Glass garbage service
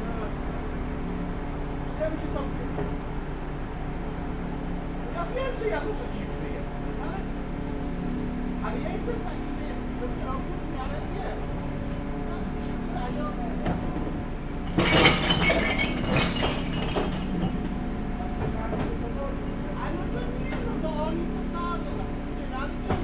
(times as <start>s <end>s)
8.5s 23.0s